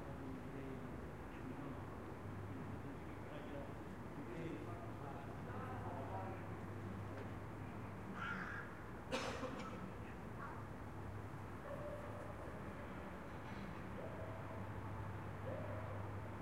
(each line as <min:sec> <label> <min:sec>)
0:00.0 distant draffic 0:16.4